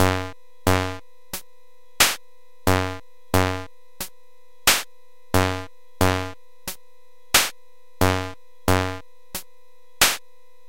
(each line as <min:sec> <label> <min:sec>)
0:02.0 drums 0:04.1
0:04.7 drums 0:06.8
0:07.4 drums 0:09.0
0:10.0 drums 0:10.2